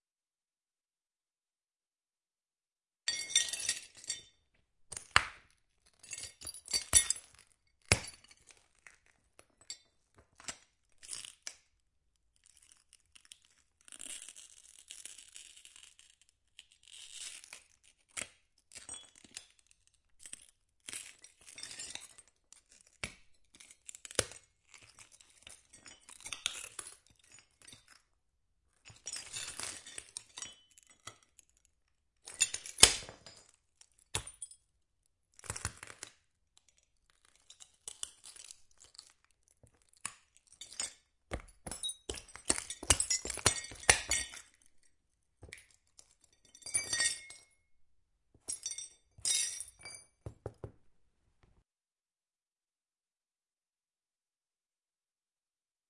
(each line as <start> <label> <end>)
39.9 Crunching glass shards 44.6
45.4 Crunching glass shards 47.5
48.5 Crunching glass shards 50.2